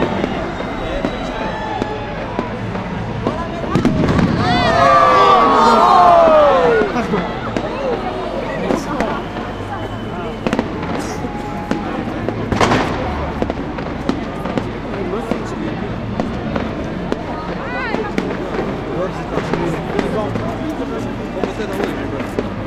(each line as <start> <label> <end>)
0.0 cheering 13.4
0.0 fireworks 22.6